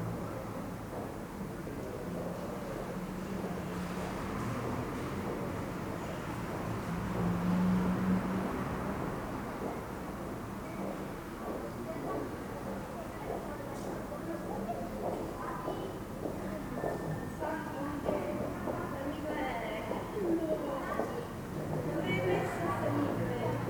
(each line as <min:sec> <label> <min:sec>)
0:00.0 small groups of people passing by 0:23.6